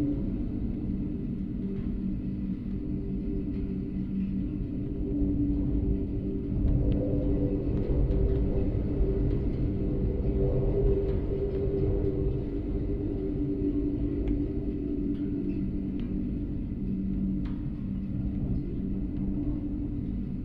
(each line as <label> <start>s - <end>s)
wind 0.0s - 20.4s